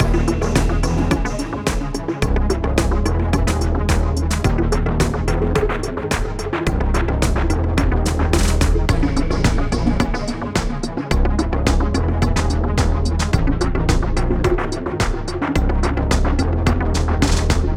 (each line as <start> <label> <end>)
0.0 Electro beat with chilly underwater vibes 17.7
0.0 synth 17.7